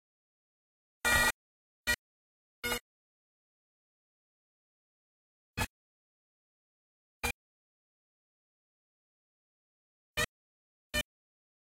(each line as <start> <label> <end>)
1.0 Bagpipes 2.0